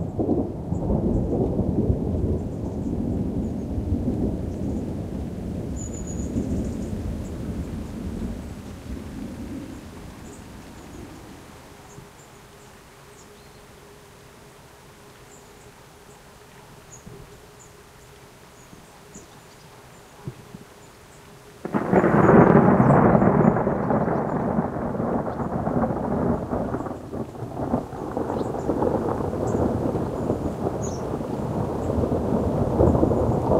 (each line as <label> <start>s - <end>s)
Thunder 0.0s - 11.2s
Rain 0.0s - 33.5s
Thunder 21.6s - 33.5s